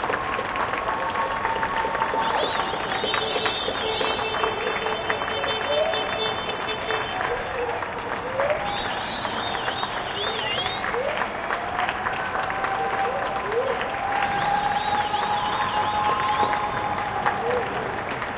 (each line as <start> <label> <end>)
0.0 Cheers 18.3